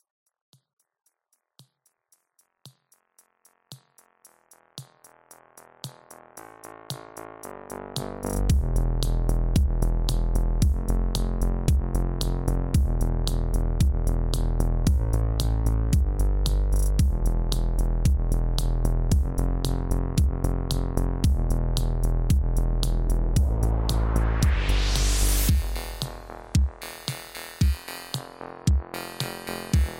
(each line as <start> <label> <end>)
1.2 elctronic beat 29.9
20.7 synth 29.9